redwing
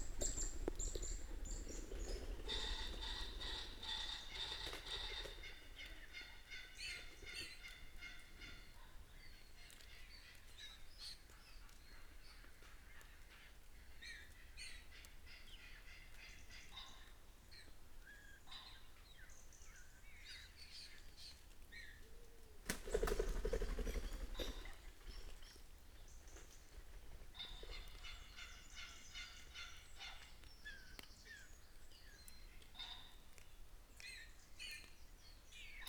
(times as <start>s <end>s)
0.0s 7.6s